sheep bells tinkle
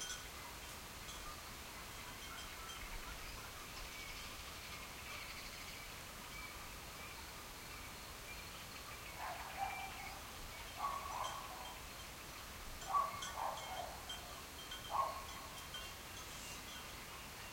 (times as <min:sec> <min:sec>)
0:00.0 0:03.8, 0:10.7 0:17.0